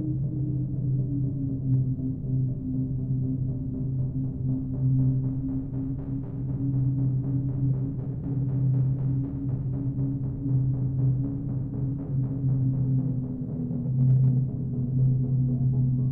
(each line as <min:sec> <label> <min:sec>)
0:13.3 noise 0:16.1